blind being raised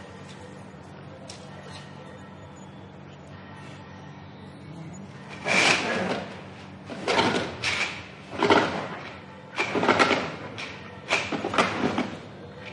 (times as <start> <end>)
5.3 12.1